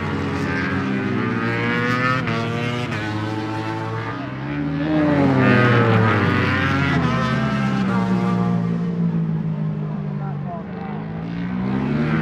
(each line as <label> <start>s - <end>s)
Motorcycle Grand Prix 0.0s - 12.2s